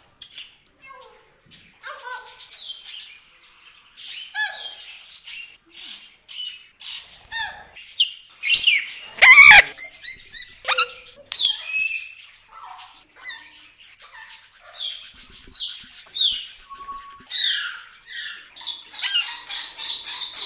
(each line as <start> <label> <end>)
0.2 parrots 20.4